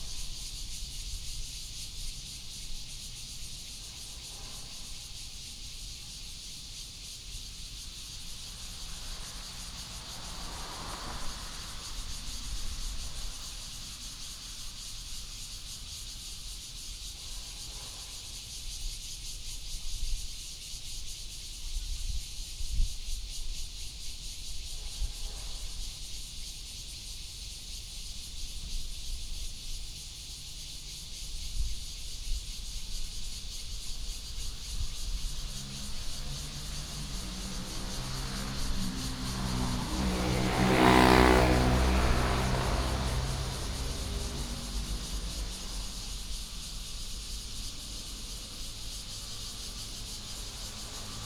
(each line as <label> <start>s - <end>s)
Cicadas 0.0s - 51.2s
traffic sound 6.8s - 16.1s
traffic sound 33.3s - 51.2s